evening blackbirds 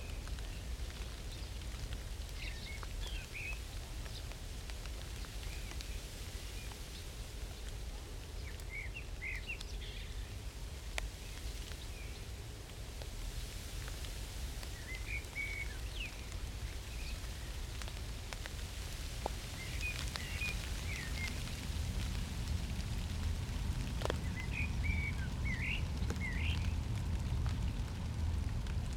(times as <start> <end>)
24.0 26.8